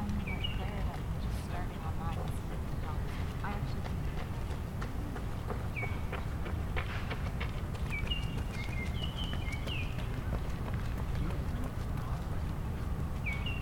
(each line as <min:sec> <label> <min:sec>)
0:00.0 People walking 0:13.6